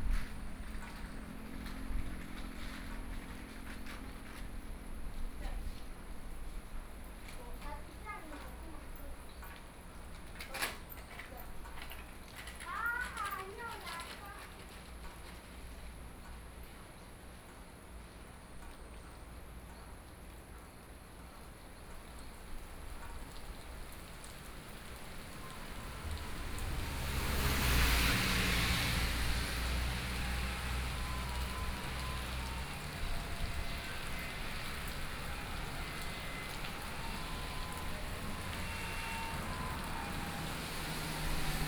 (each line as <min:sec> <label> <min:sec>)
0:00.0 Traffic Sound 0:09.0
0:22.0 Traffic Sound 0:41.6
0:23.0 Thunderstorm 0:41.6